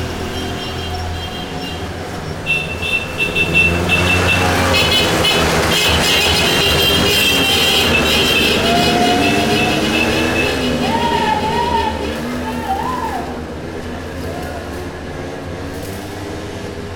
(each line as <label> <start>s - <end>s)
tourists cursing bikes 0.0s - 16.9s
scooters 0.0s - 16.9s
man welding the the railing of his balcony 14.0s - 16.9s